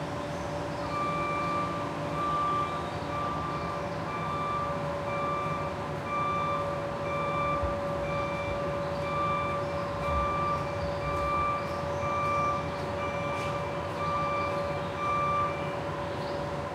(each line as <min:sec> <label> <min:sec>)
0:00.0 warning noise of a street-cleaning truck 0:16.7